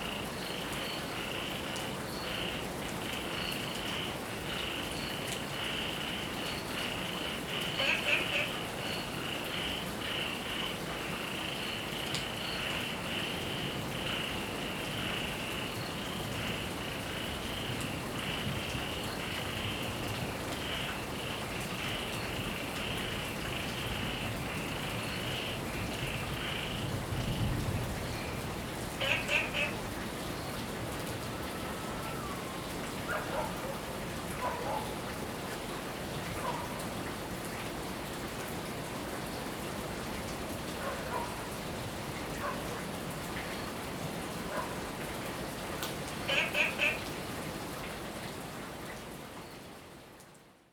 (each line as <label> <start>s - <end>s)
Heavy rain 0.0s - 50.7s
Frog chirping 7.5s - 10.7s
Frog chirping 29.0s - 29.8s
Frog chirping 46.3s - 47.1s